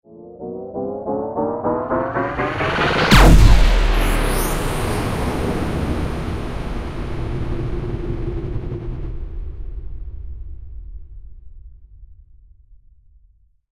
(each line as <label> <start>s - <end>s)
spaceship's large ray gun fires 1.6s - 6.4s